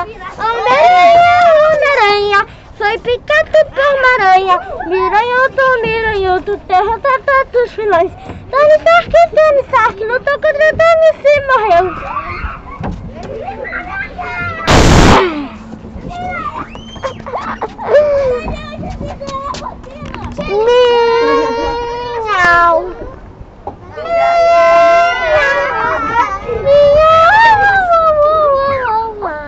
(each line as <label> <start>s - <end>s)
external sounds 8.2s - 20.0s
students started playing 12.0s - 15.7s